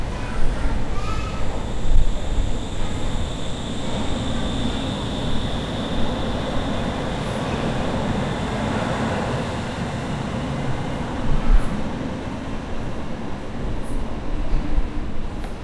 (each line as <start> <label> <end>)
0.0 train 15.6